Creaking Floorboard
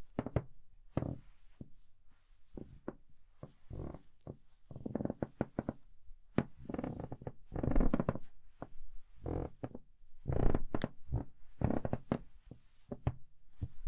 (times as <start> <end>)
2.6 5.8, 6.4 8.2, 9.2 13.8